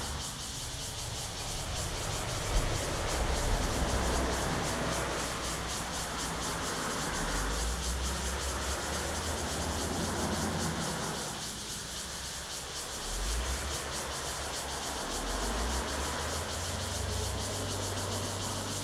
Cicadas sound 0.0 - 18.8
Traffic Sound 0.0 - 18.8

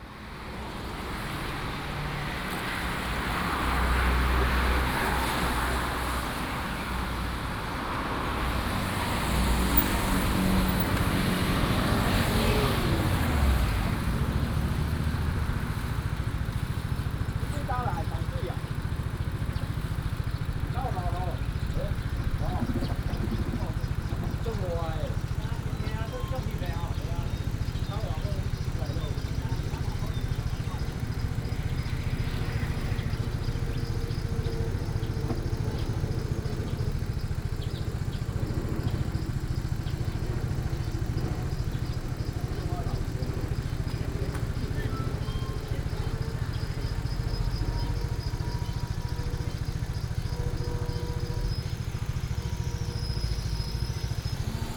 Traffic Sound 0.0 - 54.7

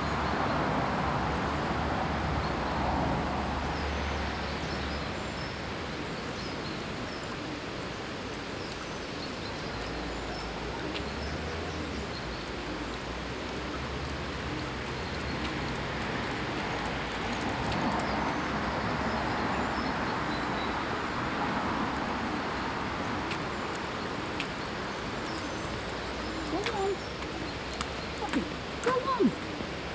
Waterfall 0.0 - 29.9
other bird life 4.8 - 29.9

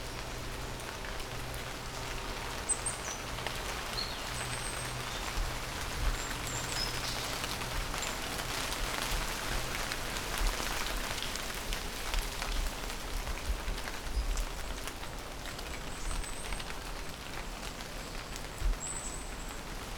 heavy rain in the forest 0.0 - 19.9

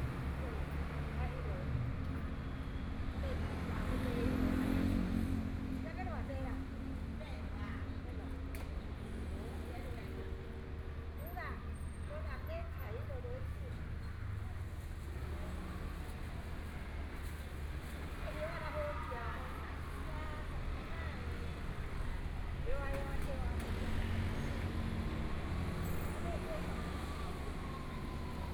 Traffic Sound 11.9 - 28.5

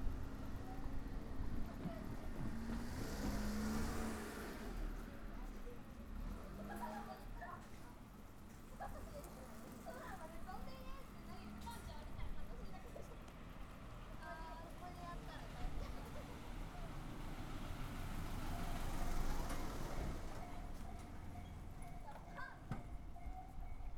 Railroad crossing 0.0 - 23.9

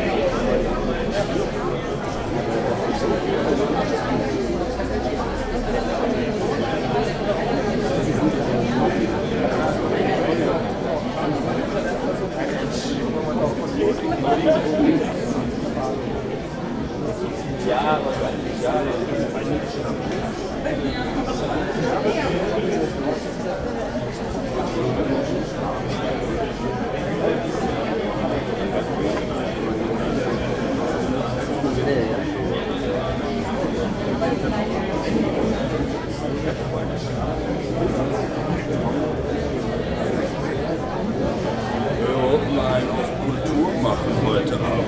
people talking 0.0 - 44.8

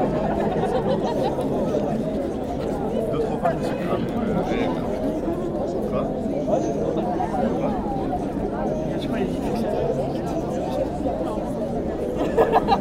students taning, joking and drinking warm bad beers 0.0 - 12.8

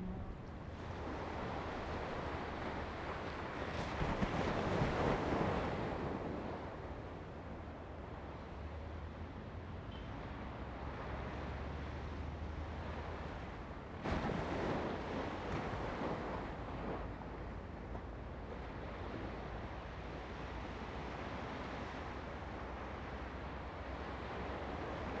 waves 0.0 - 25.2

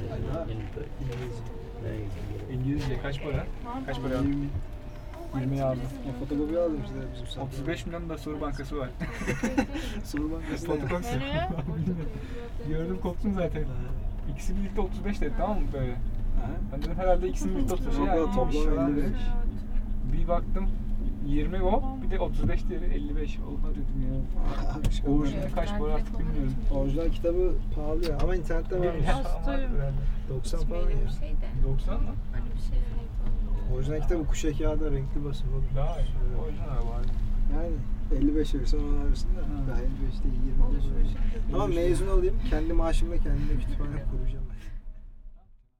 Teleferik (Gondola) 0.0 - 45.5

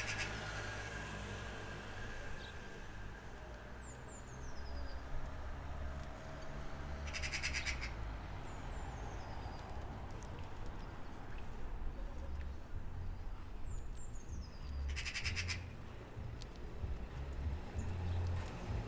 Magpies building a nest 0.0 - 0.9
Magpies building a nest 7.0 - 8.0
birds sing even louder 7.0 - 9.7
birds sing even louder 13.6 - 15.8
Magpies building a nest 14.3 - 15.8

